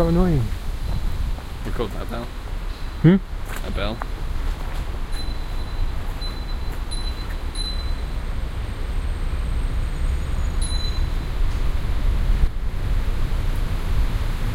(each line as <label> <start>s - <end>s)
Bike Bell 5.1s - 8.3s
train 10.4s - 11.7s
Bike Bell 10.6s - 11.5s